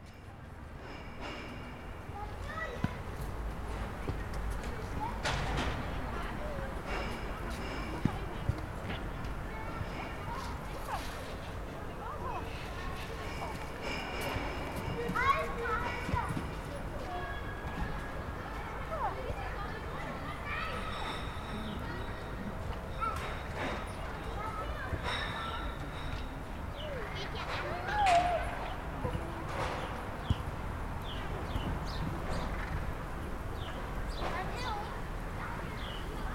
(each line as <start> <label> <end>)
0.0 Children playing at a soccer field 36.3